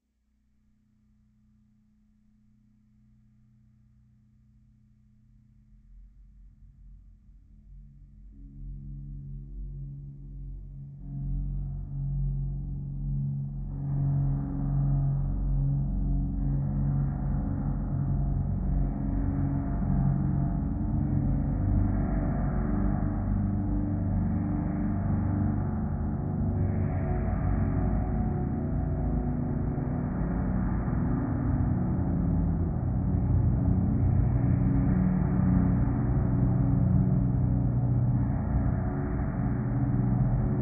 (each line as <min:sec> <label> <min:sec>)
0:02.0 Low, sustained drone 0:40.6